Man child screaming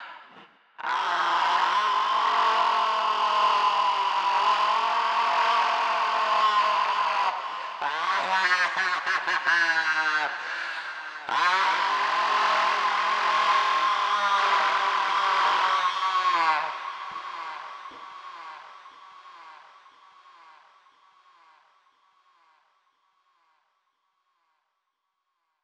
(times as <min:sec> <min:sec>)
0:00.8 0:09.0, 0:11.3 0:18.0